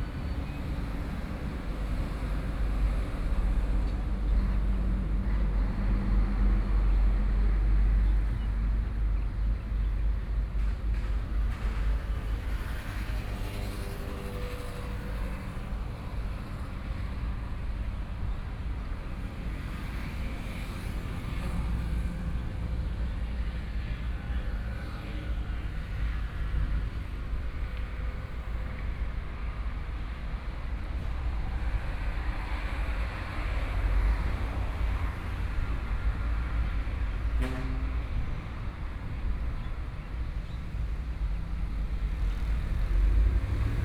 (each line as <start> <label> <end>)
0.0 big trucks 43.8
0.0 traffic sounds 43.8